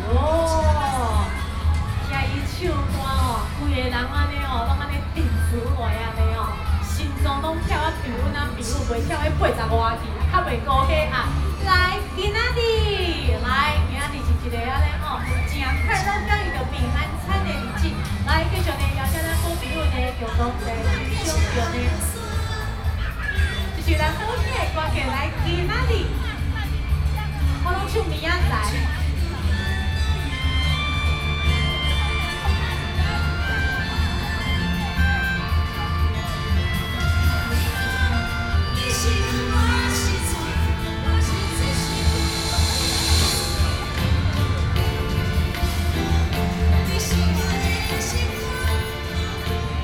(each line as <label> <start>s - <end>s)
Children playing 0.0s - 49.8s
Community party 0.0s - 49.8s